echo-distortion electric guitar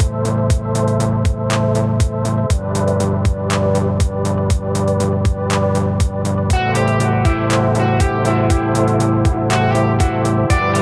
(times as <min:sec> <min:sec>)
0:06.5 0:10.8